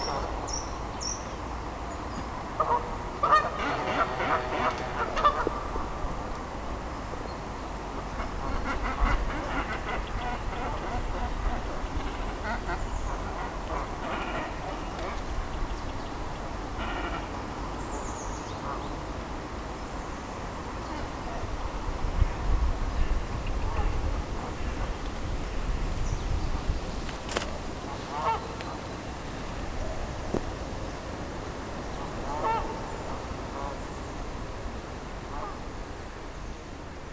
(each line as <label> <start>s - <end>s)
Canada goose 2.6s - 5.7s
Cormorants 2.6s - 5.7s
Canada goose 8.1s - 15.2s
Cormorants 8.1s - 15.2s
Canada goose 16.8s - 17.3s
Cormorants 16.8s - 17.3s
Cormorants 27.3s - 28.9s
Canada goose 27.9s - 28.8s
Canada goose 32.2s - 33.8s
Canada goose 35.3s - 35.6s